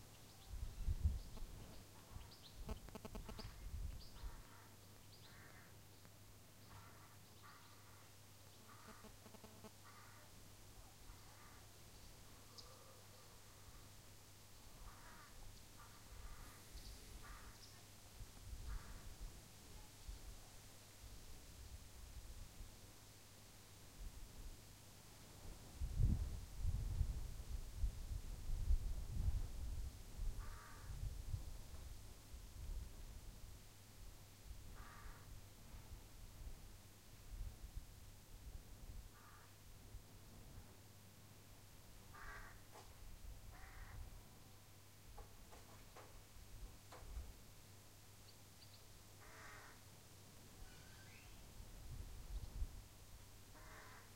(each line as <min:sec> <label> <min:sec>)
0:01.3 farm sounds very distant 0:20.5
0:01.3 fly is flying near the mic 0:04.0
0:01.3 crows on the tree 0:14.0
0:08.6 fly is flying near the mic 0:09.9
0:14.6 crows on the tree 0:18.0
0:30.4 crows on the tree 0:31.1
0:34.7 crows on the tree 0:35.4
0:39.1 crows on the tree 0:39.6
0:42.0 crows on the tree 0:44.2
0:48.7 farm sounds very distant 0:51.5
0:49.1 crows on the tree 0:51.4
0:53.5 crows on the tree 0:54.1